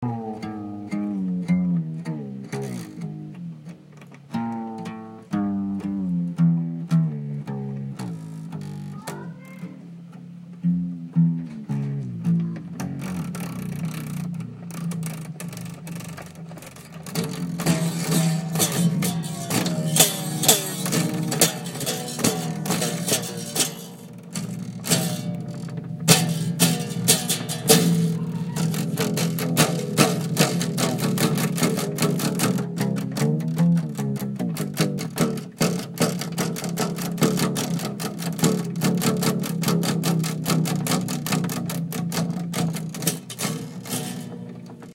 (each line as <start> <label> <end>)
0.0 changing his guitar strings 44.9